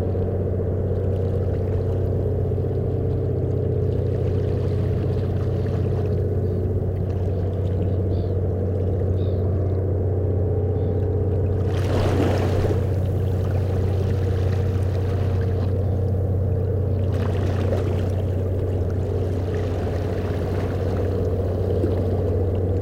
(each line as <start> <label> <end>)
0.0 Ferry leaving the harbour 22.8